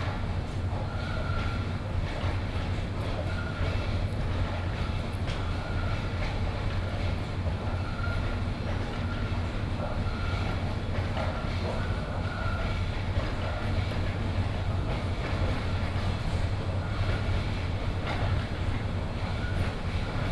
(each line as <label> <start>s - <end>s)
construction site 0.0s - 20.3s